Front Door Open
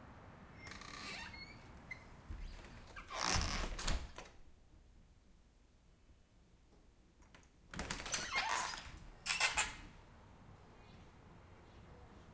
0.6 4.4, 7.7 9.9

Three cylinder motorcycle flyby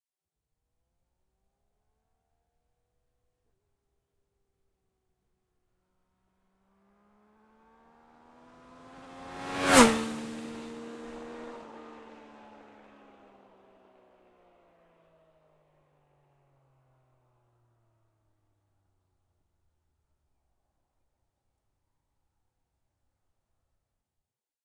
7.5 13.2

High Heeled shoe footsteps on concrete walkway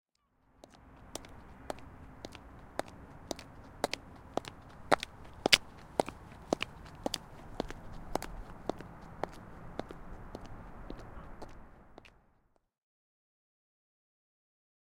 0.6 12.2

